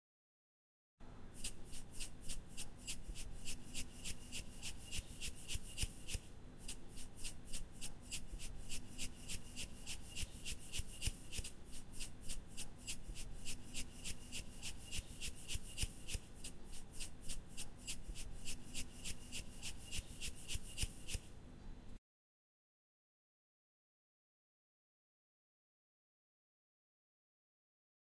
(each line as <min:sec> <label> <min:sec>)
0:01.4 Salt Shaker Shaking 0:21.3